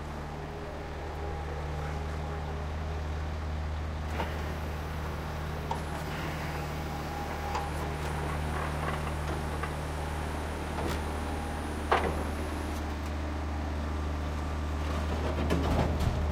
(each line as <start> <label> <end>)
0.1 excavator is moving rubble from a container 16.3